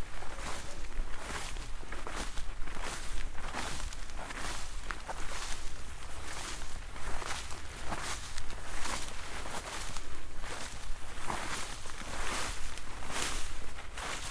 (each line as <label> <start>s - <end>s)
walk through stiff and soft grasses 0.0s - 14.3s